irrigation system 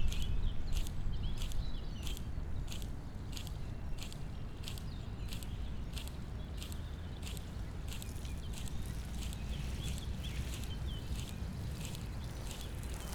6.1s 13.1s

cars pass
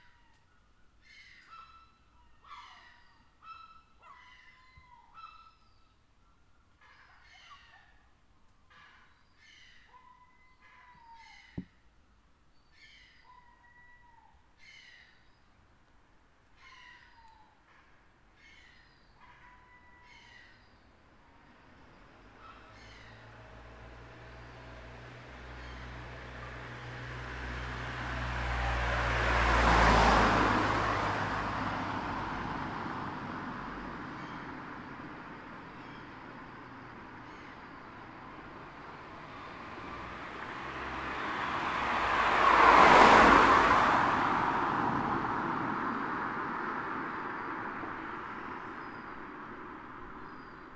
20.8s 50.7s

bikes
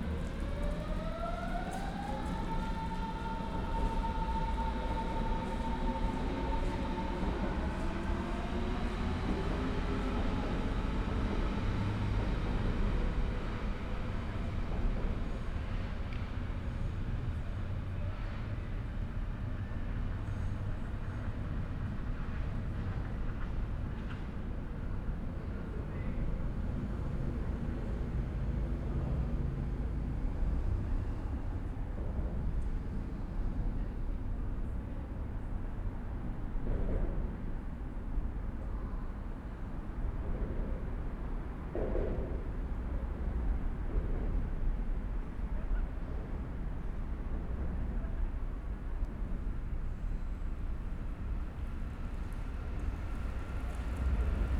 49.2s 54.5s

